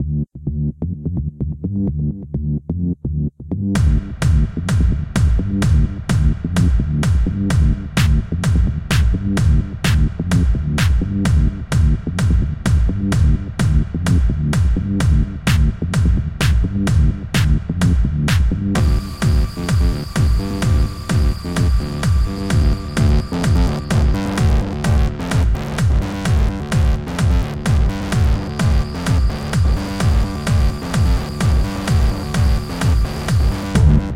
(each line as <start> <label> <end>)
0.0 bass 34.1
18.8 synth 34.1